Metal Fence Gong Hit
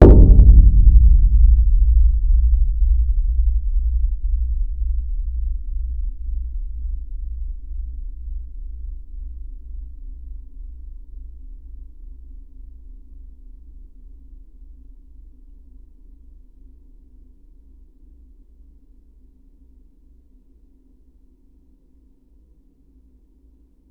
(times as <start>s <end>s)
0.0s 6.2s